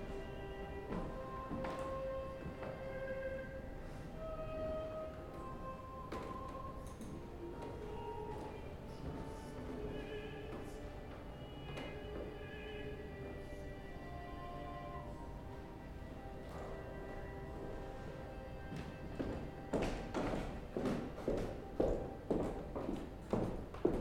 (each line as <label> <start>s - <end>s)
Footsteps 0.8s - 3.1s
Footsteps 16.4s - 24.0s